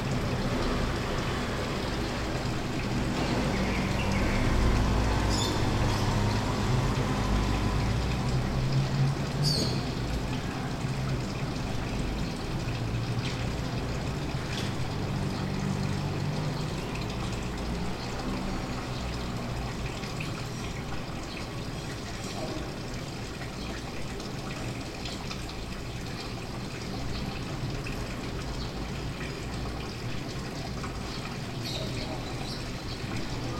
Traffic 0.0 - 33.5
water 0.0 - 33.5
birds 9.4 - 9.9
birds 31.0 - 33.5

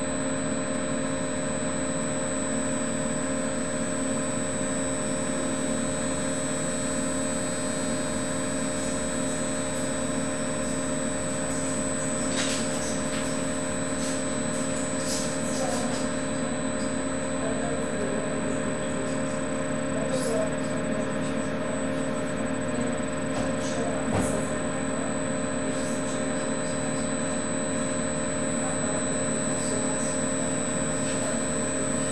hum of its cooling fan 0.0 - 32.1
oscillating high-pitched sound of a electric generator 0.0 - 32.1
conversation of medical staff 15.1 - 25.2

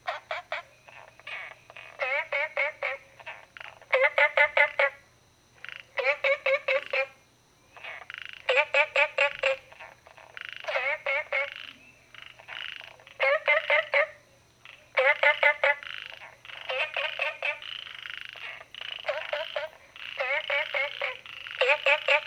Frogs chirping 0.0 - 22.2

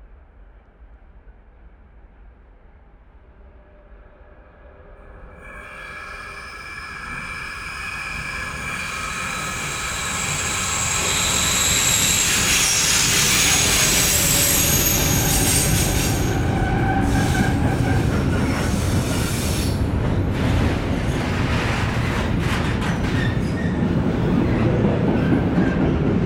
FREIGHT TRAIN 0.0 - 26.2
Passenger Train 0.0 - 26.2

